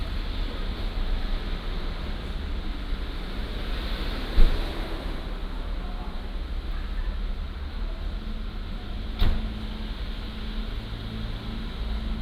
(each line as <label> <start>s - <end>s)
Close the door 9.2s - 9.6s